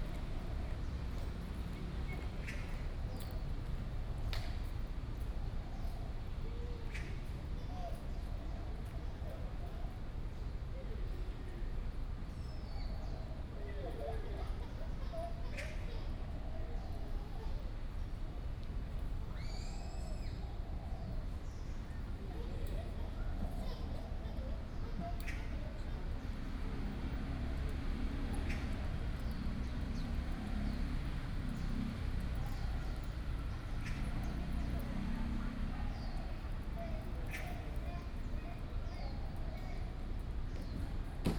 Traffic Sound 25.6 - 38.3

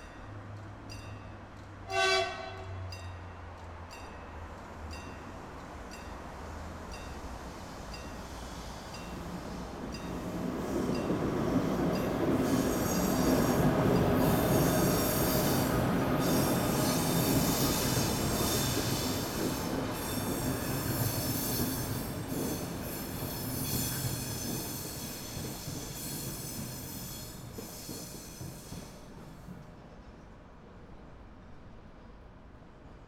train rijeka street 0.0 - 33.0

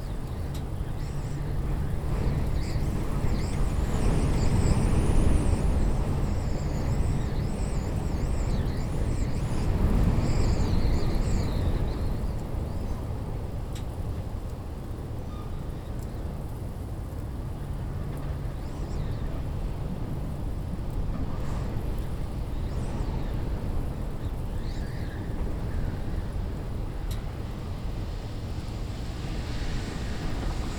Windy night at bus stop 0.0 - 30.7

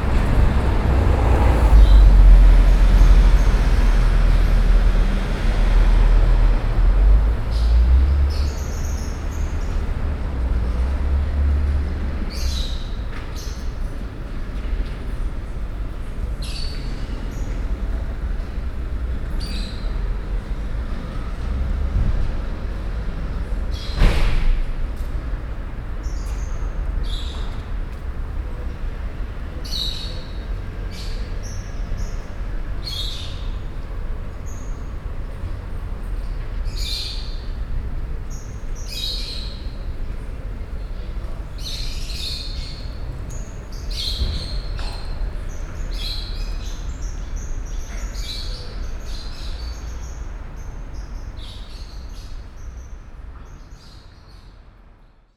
birds in a cage 0.0 - 55.2

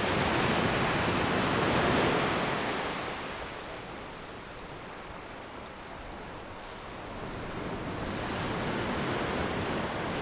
waves 6.6 - 10.2

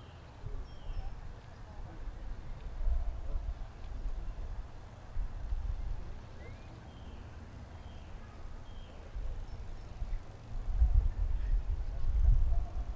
Birds 0.0 - 12.9

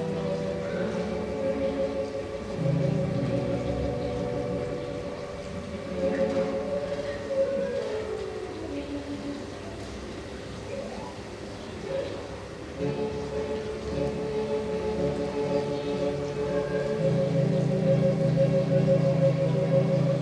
Neighbour playing organ 0.0 - 20.2

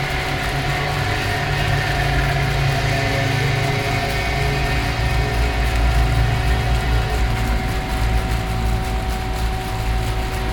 fountains 0.0 - 10.5

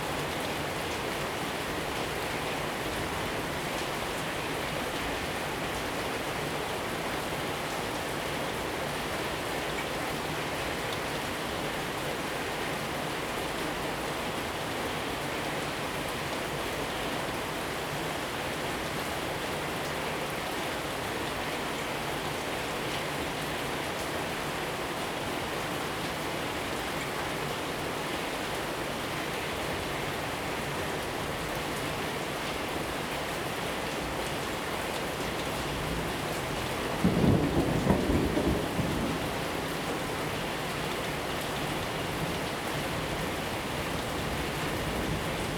Thunderstorm 35.8 - 40.4

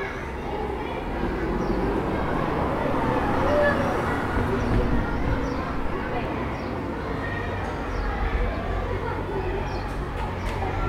voitures de passage 0.0 - 7.3

